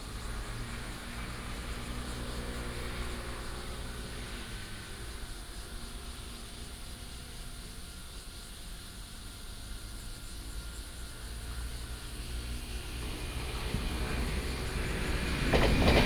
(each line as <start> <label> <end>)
0.0 train runs through 8.5
10.0 train runs through 16.0
11.4 Traffic sound 16.0